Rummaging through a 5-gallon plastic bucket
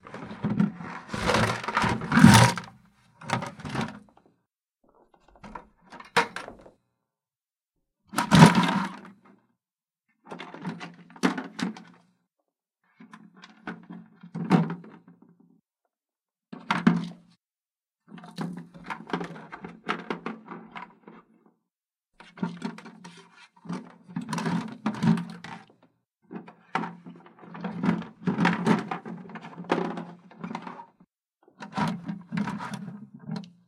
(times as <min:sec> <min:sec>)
0:00.0 0:02.7